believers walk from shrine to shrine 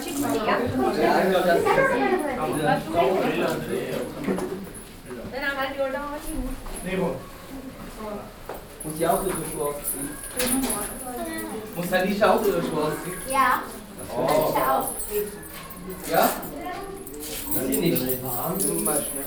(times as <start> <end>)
6.2 19.2